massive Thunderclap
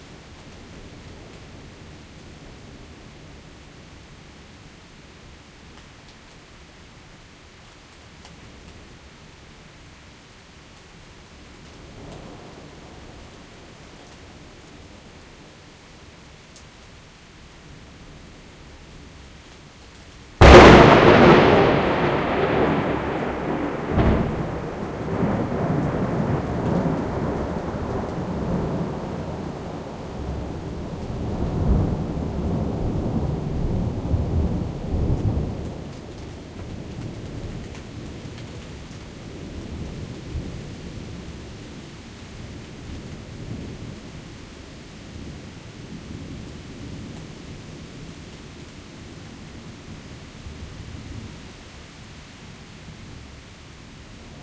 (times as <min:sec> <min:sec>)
0:20.4 0:29.4